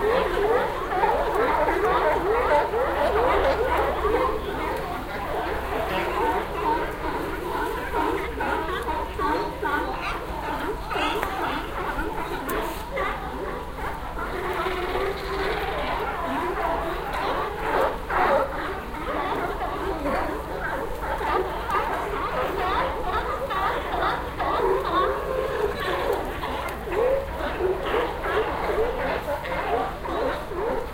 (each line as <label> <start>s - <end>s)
sea lions 0.0s - 30.9s